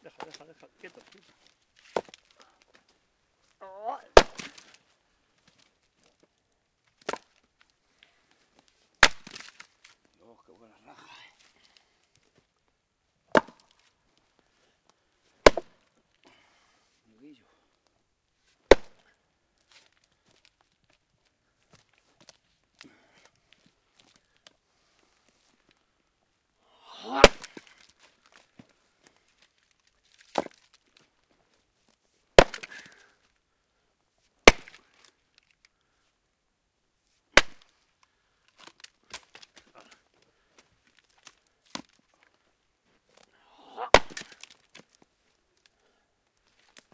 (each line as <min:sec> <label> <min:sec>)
0:00.1 splitting thick logs of wood 0:02.8
0:03.8 splitting thick logs of wood 0:04.8
0:06.9 splitting thick logs of wood 0:07.5
0:09.0 splitting thick logs of wood 0:10.1
0:13.3 splitting thick logs of wood 0:13.9
0:15.4 splitting thick logs of wood 0:16.4
0:18.7 splitting thick logs of wood 0:19.1
0:26.8 splitting thick logs of wood 0:31.1
0:32.4 splitting thick logs of wood 0:33.2
0:34.4 splitting thick logs of wood 0:35.6
0:37.3 splitting thick logs of wood 0:42.4
0:43.1 splitting thick logs of wood 0:45.0